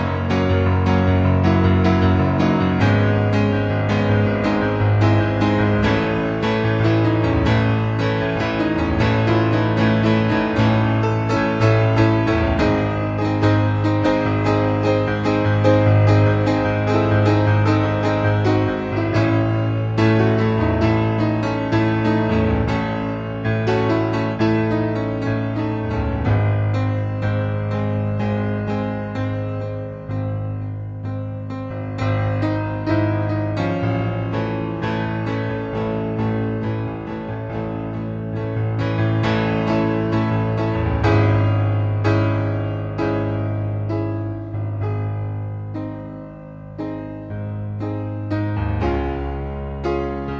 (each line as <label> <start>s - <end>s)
piano 0.0s - 50.3s